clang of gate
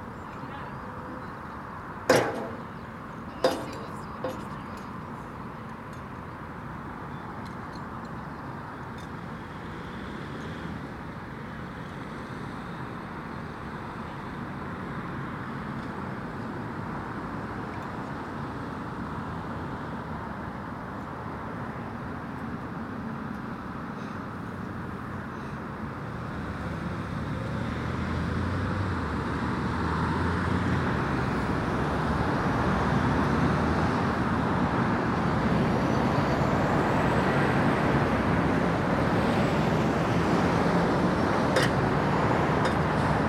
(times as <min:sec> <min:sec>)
0:02.1 0:02.8, 0:03.4 0:04.6